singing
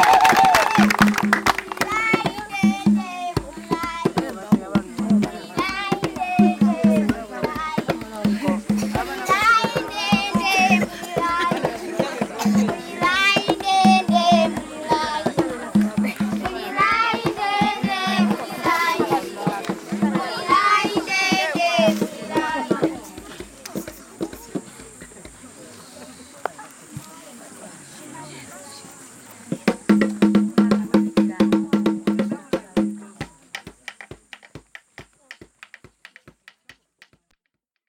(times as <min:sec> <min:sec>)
0:01.6 0:24.7